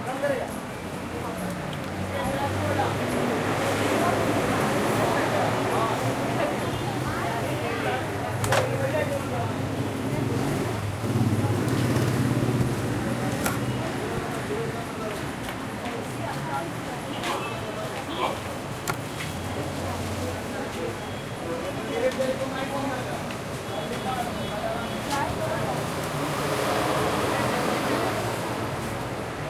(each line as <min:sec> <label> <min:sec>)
0:00.0 people and movement 0:29.4
0:00.0 traffic medium throaty nearby 0:29.4